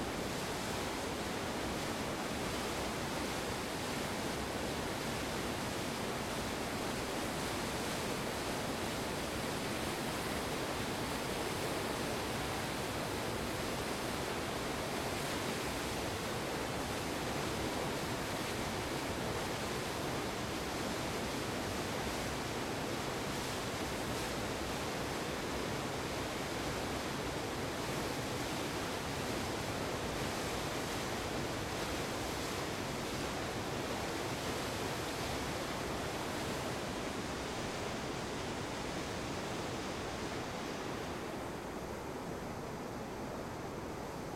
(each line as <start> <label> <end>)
0.0 river 44.3
0.0 waterfall 44.3